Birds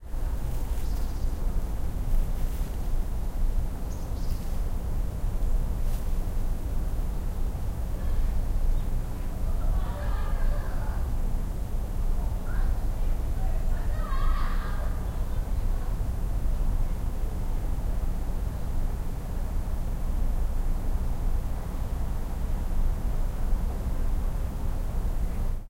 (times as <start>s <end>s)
0.3s 4.7s